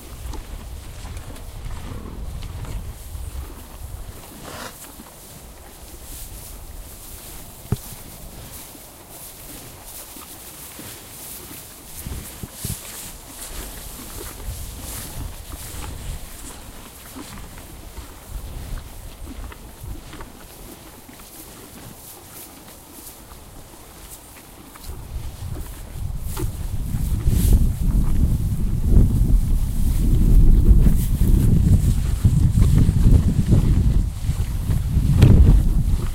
0.0s Cows Chewing 36.1s
1.1s Cows Grunting 5.0s

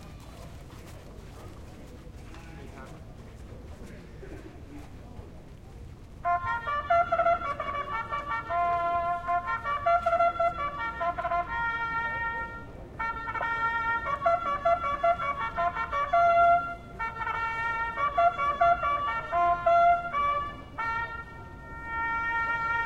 0.0s horses warming up 6.4s
0.1s people discussing the horses 6.2s

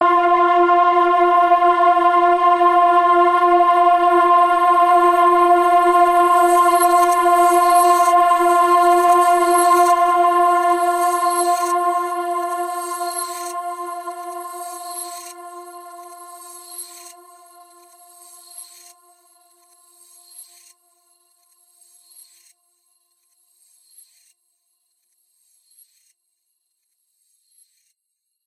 0.0s synth pad 18.8s

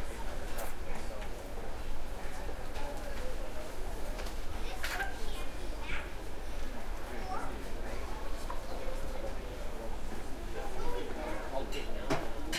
11.7s dishes 12.5s

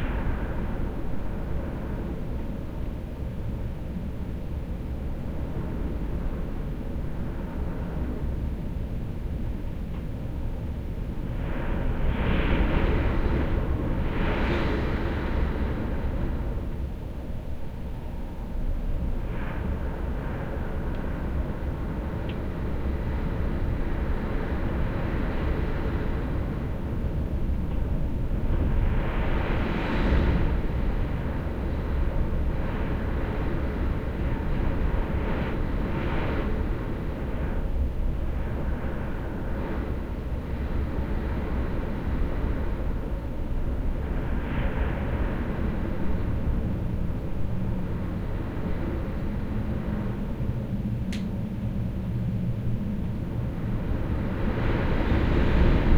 0.0s strong wind blowing on my window 55.9s

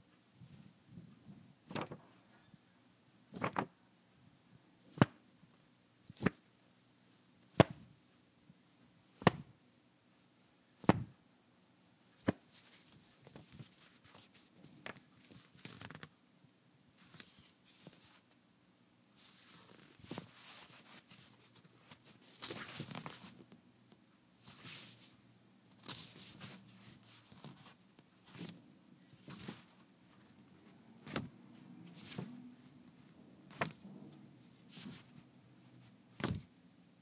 12.6s handling sounds of a folded manila envelope 16.1s

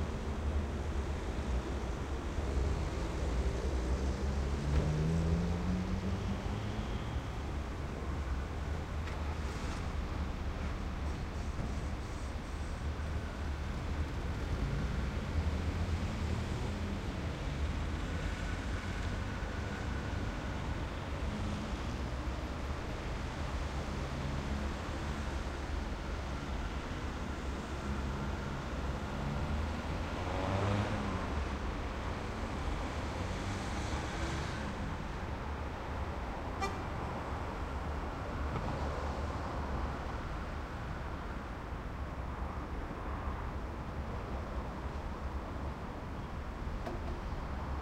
0.0s traffic 47.8s

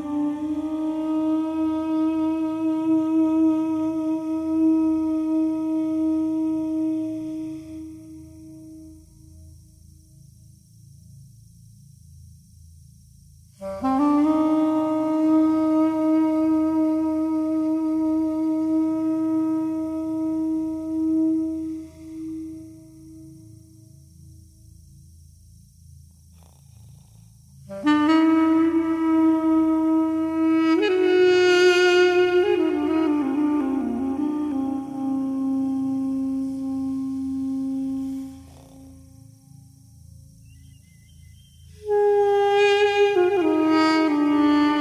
0.0s duduk 9.3s
13.6s duduk 24.0s
27.7s duduk 39.7s
41.8s duduk 44.8s

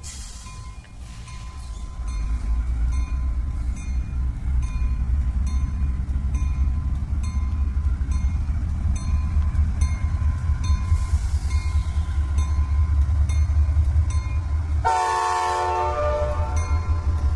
0.0s Deisel locomotive standing and filling air brakes 17.3s
0.0s train pulling away 17.3s
0.5s bell 10.9s

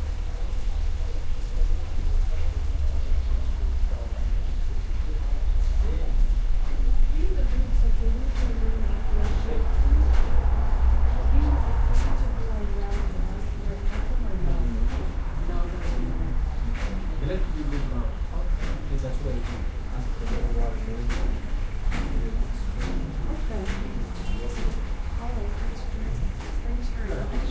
0.0s Waterfall 8.6s

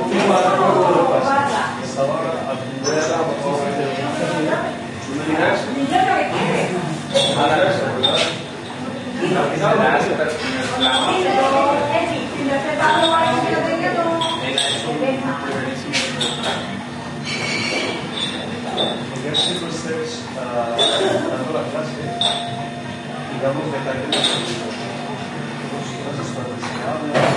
14.1s dishes 14.9s
15.9s dishes 19.6s
22.1s dishes 22.6s
24.1s dishes 24.9s

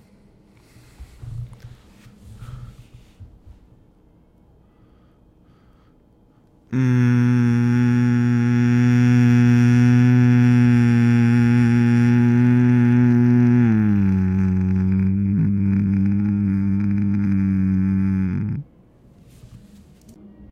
6.7s Groaning Low 18.7s

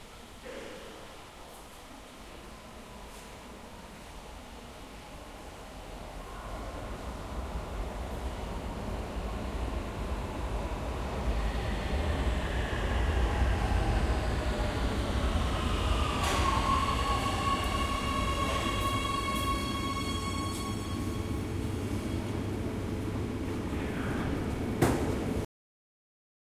0.0s Train 25.4s

